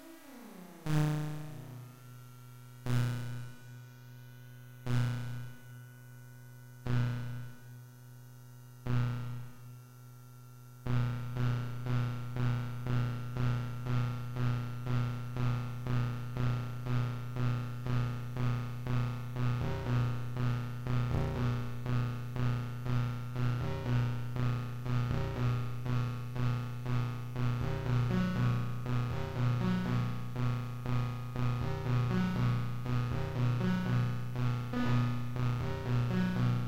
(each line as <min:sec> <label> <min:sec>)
0:00.0 analog synthesizer 0:05.2
0:14.5 analog synthesizer 0:36.6